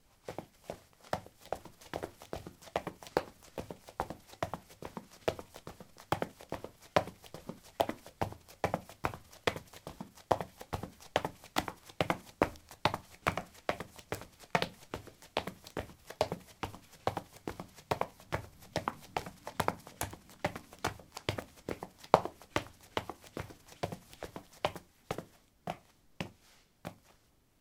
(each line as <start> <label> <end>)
15.8 footsteps 27.2